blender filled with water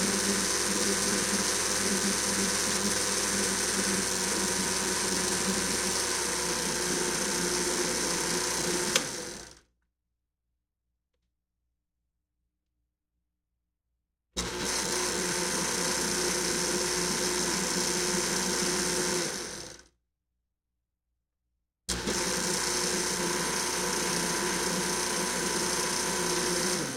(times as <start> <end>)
0.0 9.6, 14.4 19.9, 21.9 26.9